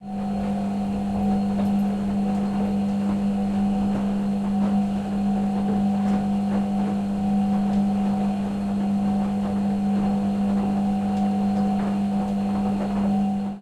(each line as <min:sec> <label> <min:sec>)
0:00.0 running concrete mixer 0:13.6